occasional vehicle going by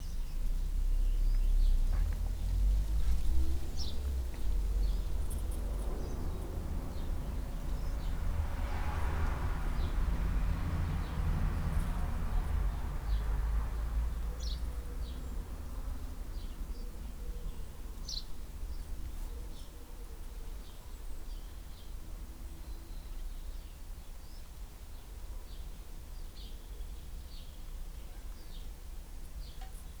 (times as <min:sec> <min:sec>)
0:00.0 0:19.1